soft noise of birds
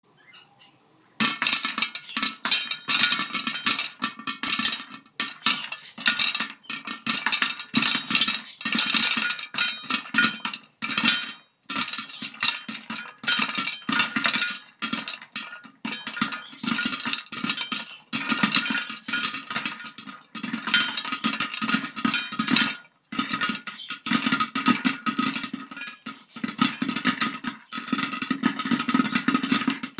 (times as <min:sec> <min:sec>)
0:00.0 0:03.5